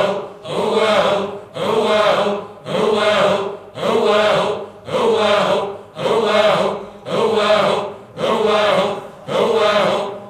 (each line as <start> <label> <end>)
0.0 voices 10.2